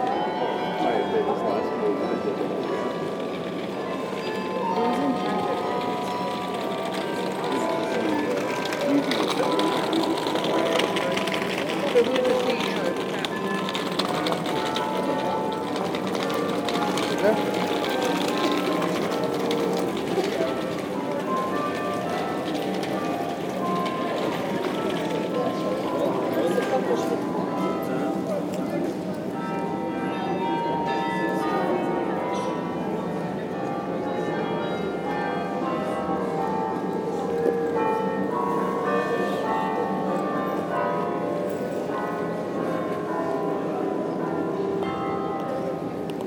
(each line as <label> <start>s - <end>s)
flood of tourists 0.0s - 46.2s